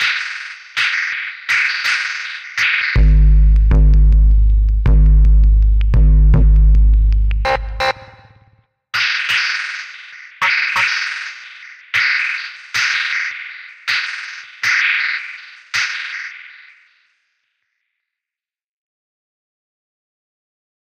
drum loop 0:00.0 - 0:16.1

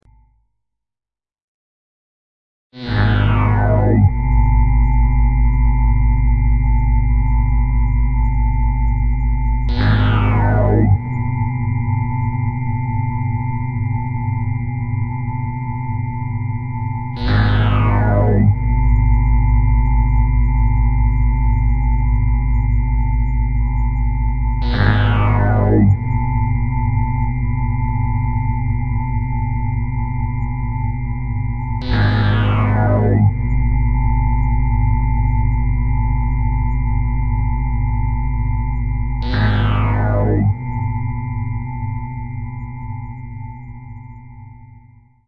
SYnthetic sounds of varying frequencies 0:02.8 - 0:12.9
SYnthetic sounds of varying frequencies 0:16.7 - 0:22.1
SYnthetic sounds of varying frequencies 0:23.0 - 0:27.3
SYnthetic sounds of varying frequencies 0:31.6 - 0:36.2
SYnthetic sounds of varying frequencies 0:38.7 - 0:41.4

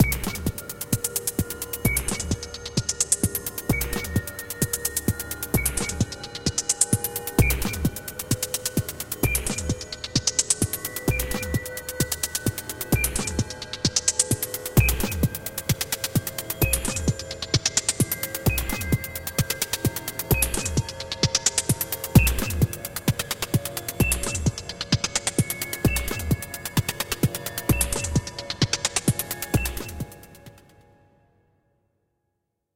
drone 0:00.0 - 0:30.7

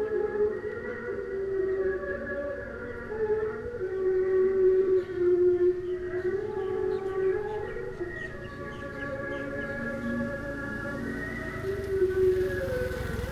noise/music coming from the local park 0:00.0 - 0:13.3

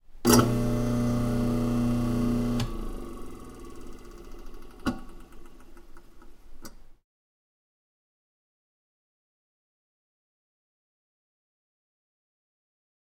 Garbage disposal being turned on then turned off 0:00.2 - 0:05.9

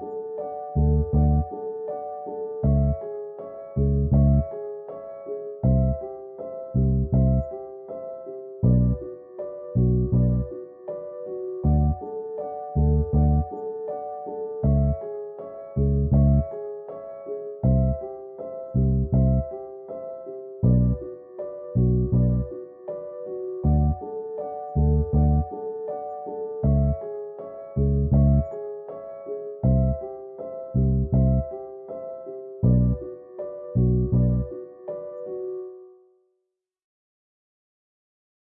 piano 0:00.0 - 0:36.3
bass 0:00.6 - 0:01.6
bass 0:02.5 - 0:04.7
bass 0:05.5 - 0:07.6
bass 0:08.6 - 0:10.6
bass 0:11.6 - 0:12.1
bass 0:12.7 - 0:13.6
bass 0:14.6 - 0:16.6
bass 0:17.6 - 0:18.1
bass 0:18.7 - 0:19.6
bass 0:20.6 - 0:22.6
bass 0:23.6 - 0:25.5
bass 0:26.6 - 0:28.6
bass 0:29.5 - 0:31.6
bass 0:32.6 - 0:34.6

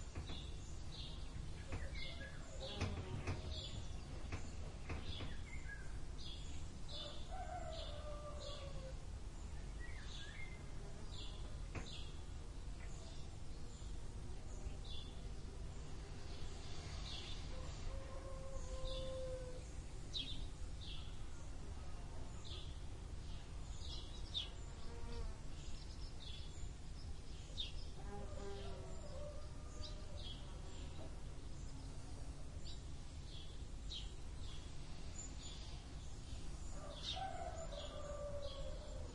Golden Oriole 0:00.0 - 0:21.6
rooster 0:06.9 - 0:09.0
rooster 0:17.5 - 0:19.6
rooster 0:36.8 - 0:39.1

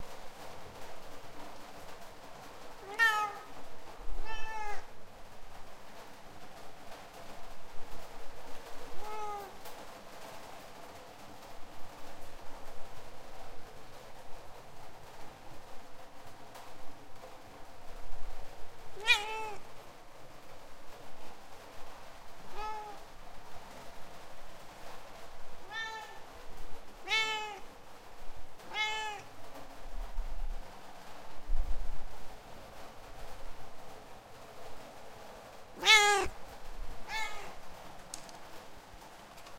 rain 0:00.0 - 0:39.5
Cat meows 0:02.8 - 0:03.6
Cat meows 0:04.2 - 0:05.0
Cat meows 0:09.0 - 0:09.6
Cat meows 0:18.9 - 0:19.7
Cat meows 0:22.4 - 0:23.0
Cat meows 0:25.6 - 0:26.3
Cat meows 0:27.0 - 0:27.7
Cat meows 0:28.6 - 0:29.3
Cat meows 0:35.8 - 0:36.4
Cat meows 0:37.0 - 0:37.6

